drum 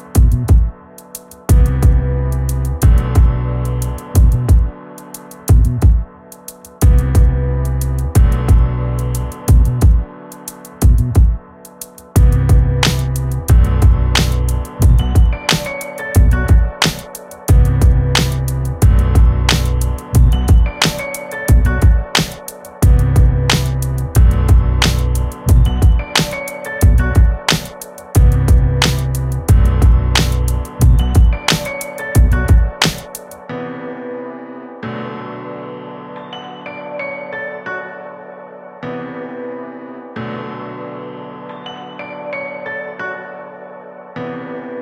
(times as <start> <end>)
13.5 33.2